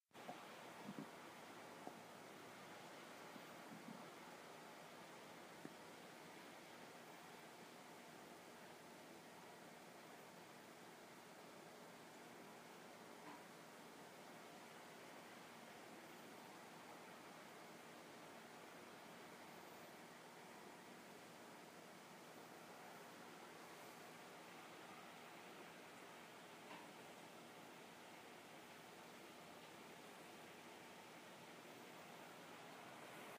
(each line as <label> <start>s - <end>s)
white noise 0.1s - 33.3s
muffled fan 0.2s - 33.3s